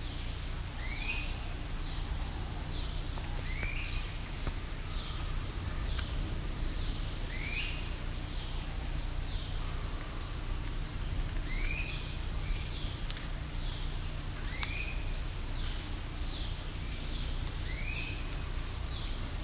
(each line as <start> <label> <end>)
0.0 insects 19.4